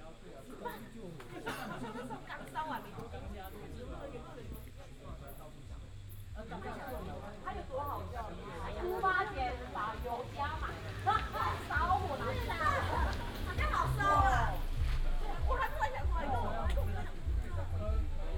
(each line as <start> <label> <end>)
0.0 high school students gather in chat 18.3
7.9 traffic sound 18.3